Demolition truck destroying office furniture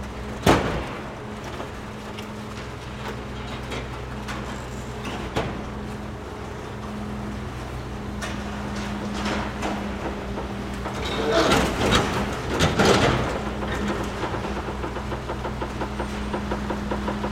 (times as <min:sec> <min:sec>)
0:08.7 0:14.7